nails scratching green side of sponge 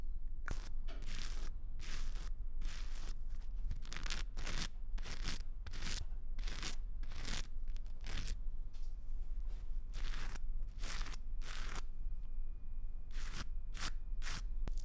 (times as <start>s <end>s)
0.5s 8.4s, 10.0s 11.8s, 13.1s 14.8s